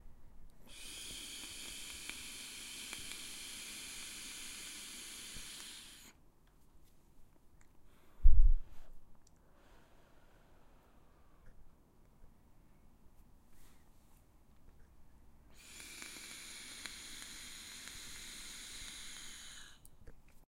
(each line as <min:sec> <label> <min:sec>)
0:00.7 Man inhale and exhale vape 0:06.2
0:15.5 Man inhale and exhale vape 0:19.9